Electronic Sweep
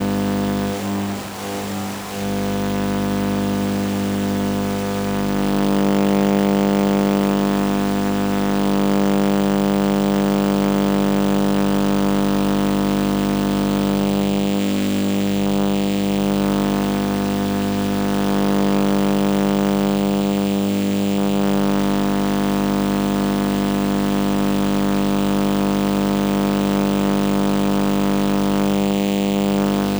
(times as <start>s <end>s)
0.0s 5.4s